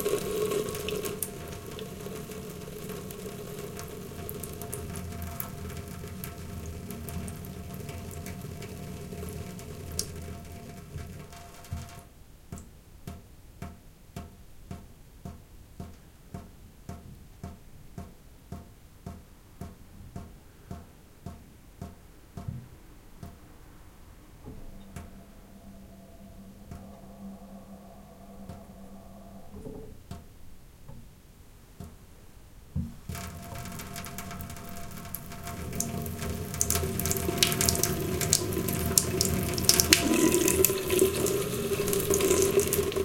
0.0s dripping 12.7s
33.0s dripping 43.0s

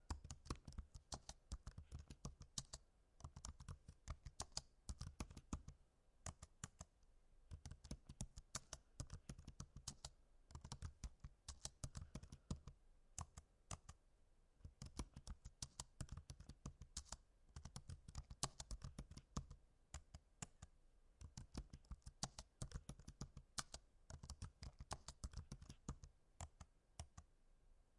21.2s typewriting fast 26.0s

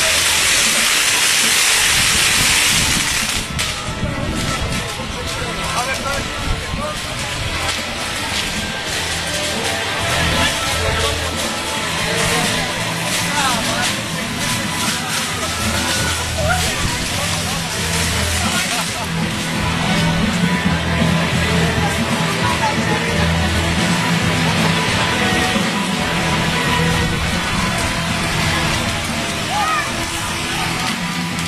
0.0s fireworks 22.8s
0.0s crowds 31.4s

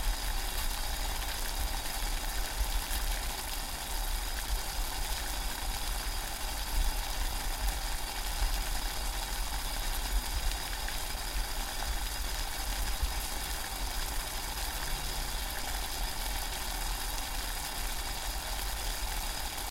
0.0s boiling water 19.7s

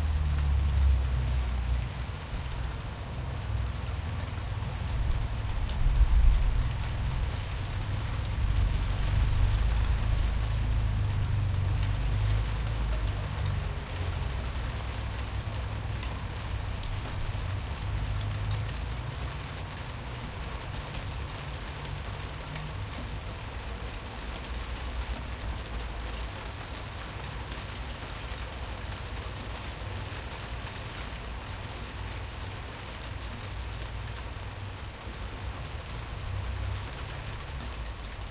0.0s rain 38.3s

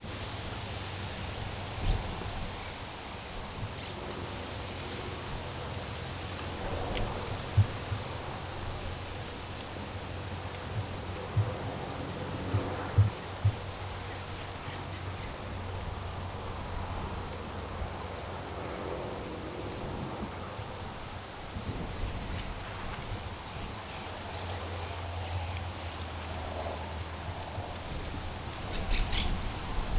23.6s birds 29.9s

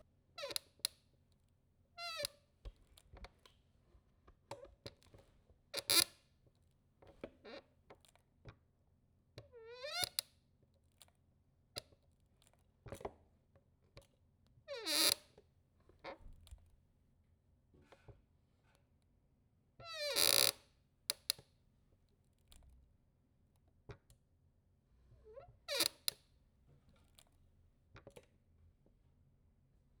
0.4s squeaky office chair 0.7s
2.0s squeaky office chair 2.4s
5.8s squeaky office chair 6.1s
9.6s squeaky office chair 10.2s
14.7s squeaky office chair 15.2s
19.8s squeaky office chair 20.6s
25.2s squeaky office chair 26.2s

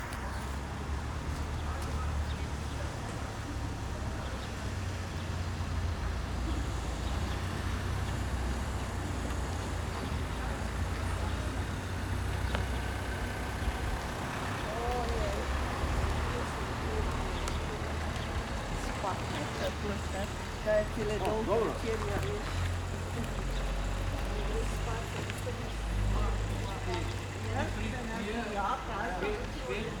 6.2s People 30.0s

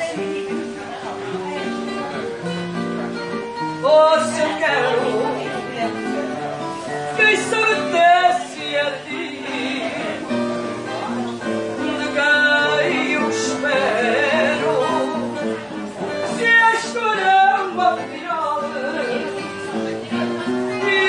0.0s guitar 21.0s
0.0s people are chatting and eating 21.0s
3.8s lady singing a traditional Portuguese song 10.5s
11.6s lady singing a traditional Portuguese song 21.0s

